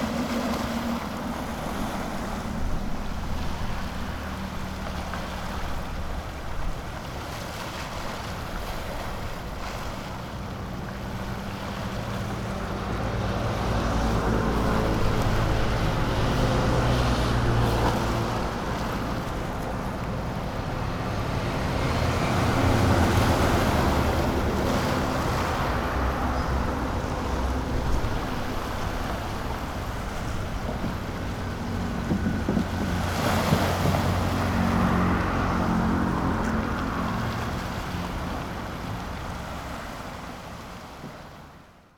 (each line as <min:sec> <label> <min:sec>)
0:00.0 Waves 0:41.9
0:00.0 Wind 0:41.9
0:08.4 Traffic Sound 0:41.0